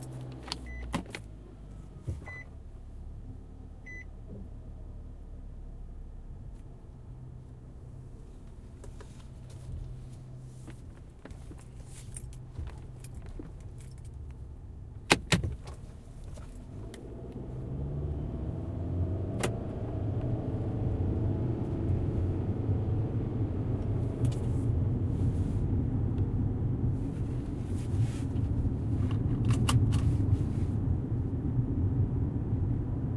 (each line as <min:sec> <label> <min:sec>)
0:00.0 Turn signal 0:33.1
0:00.0 car interior during first portion of a trip 0:33.1
0:15.0 Seat belt click 0:15.8
0:29.0 Seat belt click 0:30.1